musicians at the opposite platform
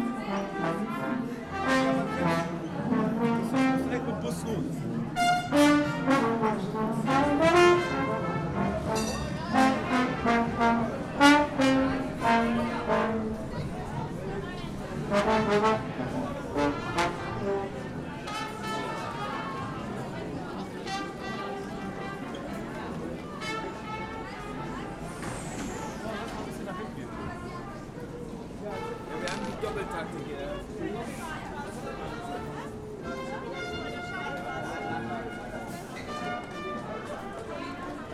0.0 25.7, 28.3 30.2

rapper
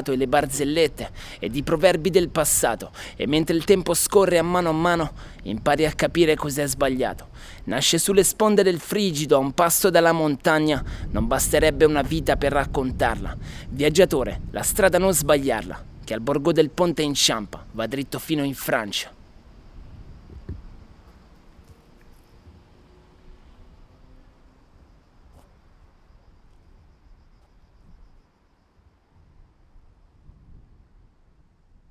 0.0 19.1

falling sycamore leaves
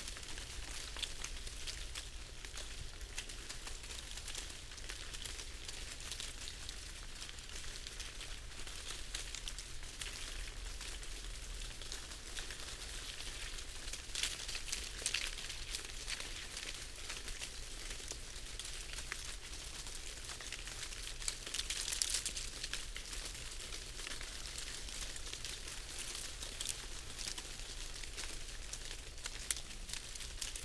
20.3 30.6

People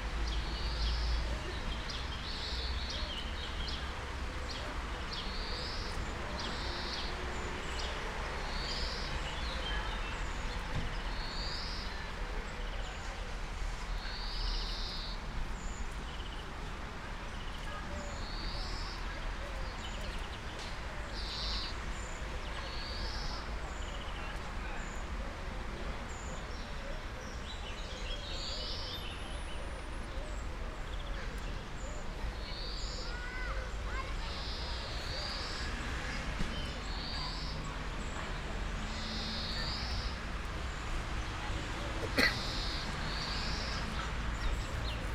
29.2 45.1

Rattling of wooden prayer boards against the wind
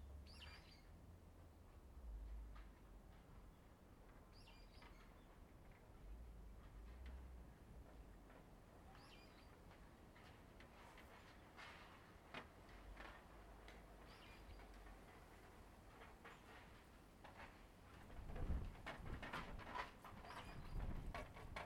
4.9 21.6

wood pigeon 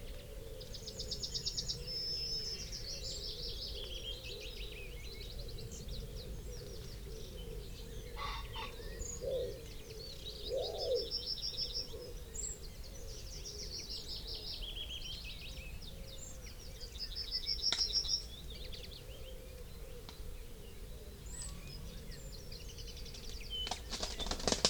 23.0 24.6

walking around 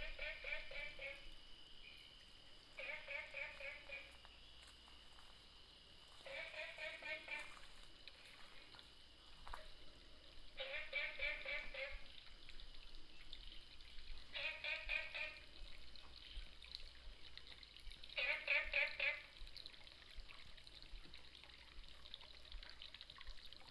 2.2 9.9

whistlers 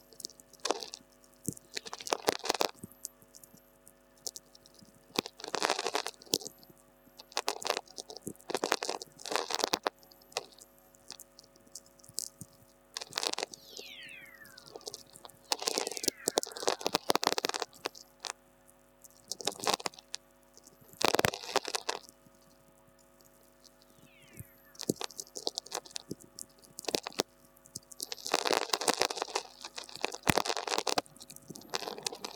13.5 17.8, 24.0 24.9

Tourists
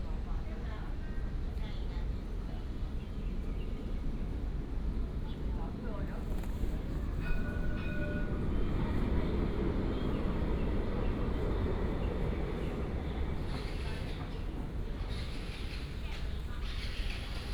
6.8 17.5

